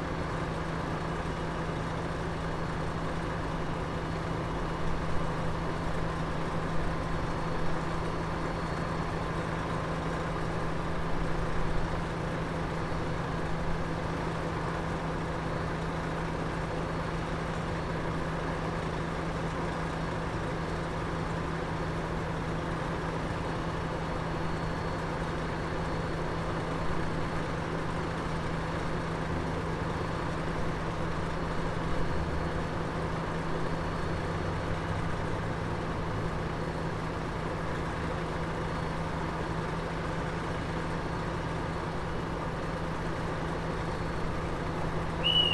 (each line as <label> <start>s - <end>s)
Train heading south 43.8s - 45.5s